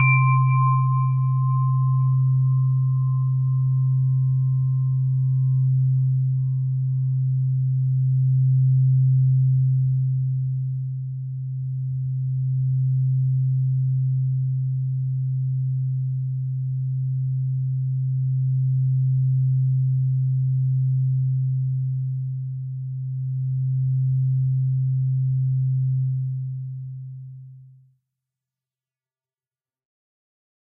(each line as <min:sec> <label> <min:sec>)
0:00.0 chime 0:06.2